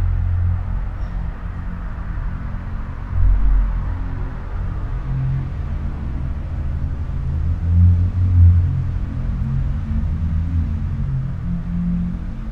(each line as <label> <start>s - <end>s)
resonances of the near traffic 0.0s - 12.5s